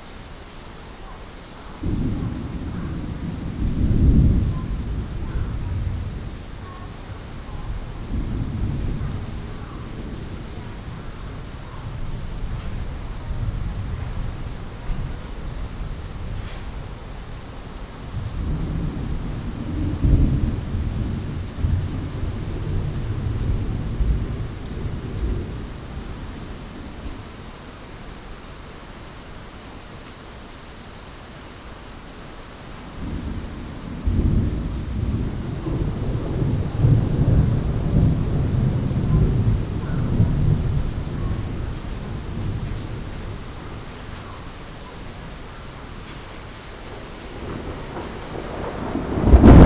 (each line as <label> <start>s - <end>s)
Thunderstorms 1.8s - 27.9s
Thunderstorms 32.8s - 49.6s